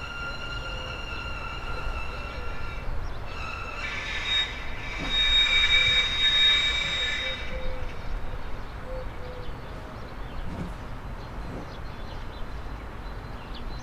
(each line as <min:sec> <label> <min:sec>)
0:00.0 moan of a grinder operating on a deck 0:08.2